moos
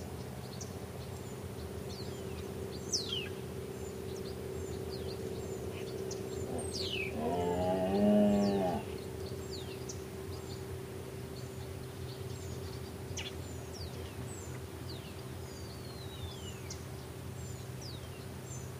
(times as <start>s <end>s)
6.4s 9.0s